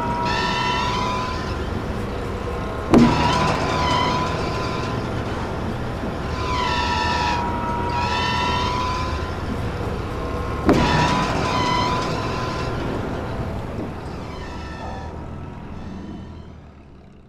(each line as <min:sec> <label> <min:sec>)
0:00.0 oil field pumpjacks 0:17.2